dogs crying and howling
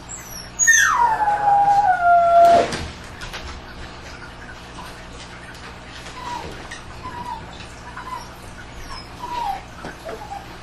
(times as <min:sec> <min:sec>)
0:00.0 0:02.8, 0:06.0 0:10.6